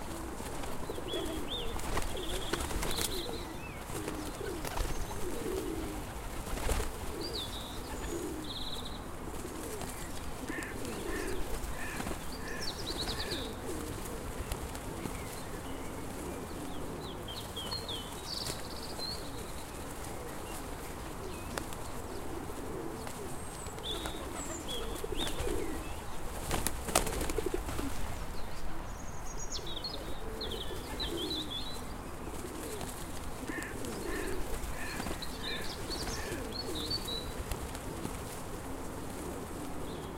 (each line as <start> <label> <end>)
0.0 pigeons cooing 28.2
0.0 quiet birdsong 38.0
29.9 pigeons cooing 40.1
39.1 quiet birdsong 40.1